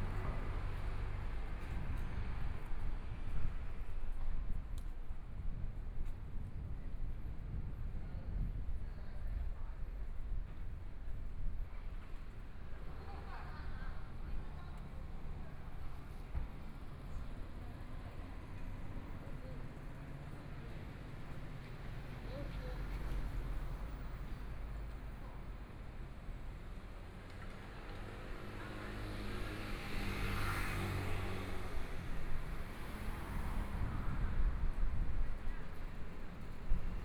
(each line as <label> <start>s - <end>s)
walking in the Street 0.0s - 37.0s
Traffic Sound 14.7s - 37.0s